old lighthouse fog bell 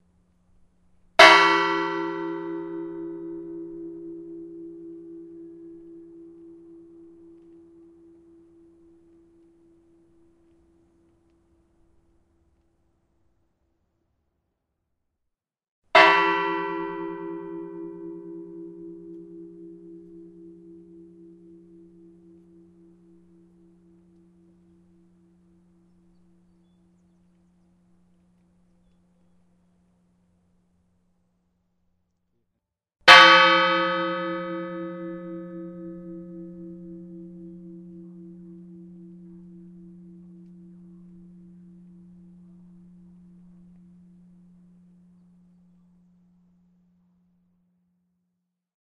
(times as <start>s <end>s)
1.2s 11.0s, 16.0s 28.8s, 33.0s 47.8s